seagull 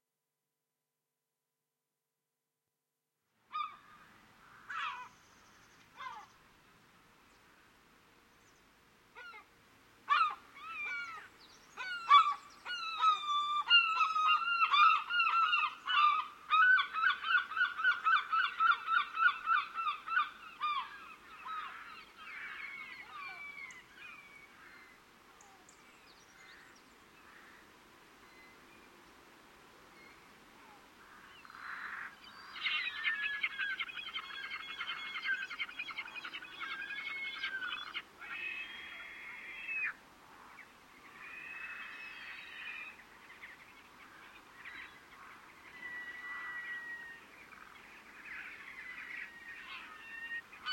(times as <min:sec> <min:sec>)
0:03.5 0:03.9, 0:04.7 0:05.1, 0:06.0 0:06.3, 0:09.2 0:09.5, 0:10.1 0:24.2, 0:31.7 0:40.0, 0:45.6 0:50.7